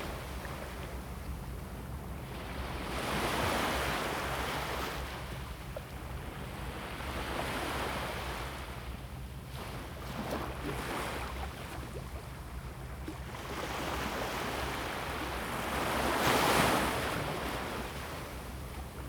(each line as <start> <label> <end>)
0.0 waves 19.0